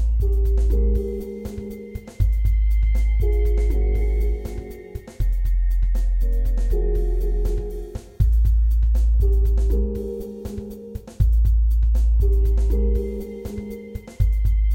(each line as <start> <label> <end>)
0.0 Drum 14.7